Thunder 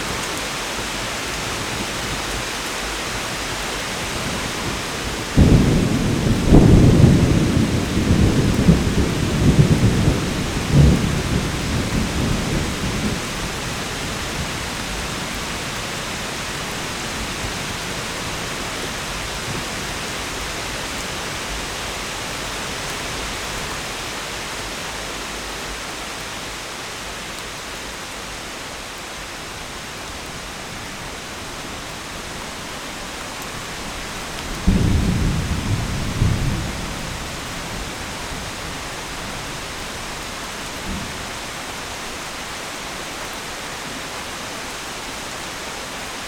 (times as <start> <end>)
5.4 13.3, 34.6 37.2